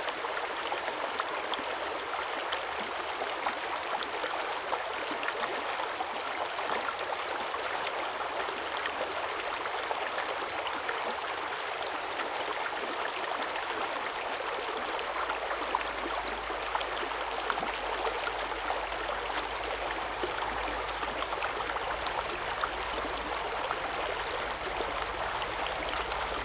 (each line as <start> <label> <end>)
13.0 water streams 26.4